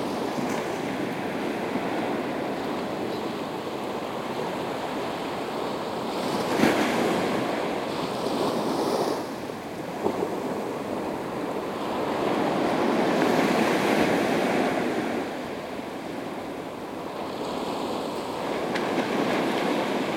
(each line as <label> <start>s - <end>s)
The sea 0.0s - 20.1s